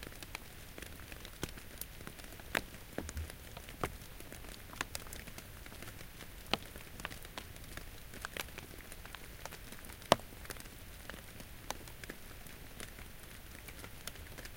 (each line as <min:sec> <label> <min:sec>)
0:00.0 Light rain falling in the forest 0:14.5
0:00.0 pops and plops as raindrops hit the understory leaves 0:14.5